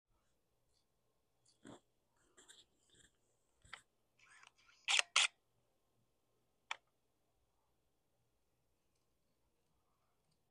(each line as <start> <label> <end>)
4.9 camera taking one photo 5.3